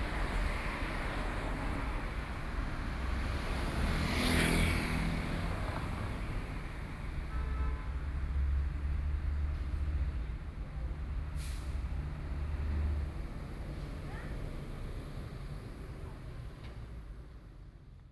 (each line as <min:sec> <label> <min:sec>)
0:00.0 Traffic 0:18.1